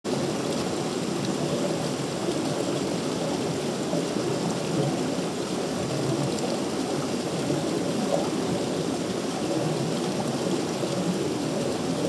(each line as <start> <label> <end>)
0.1 Close river 12.0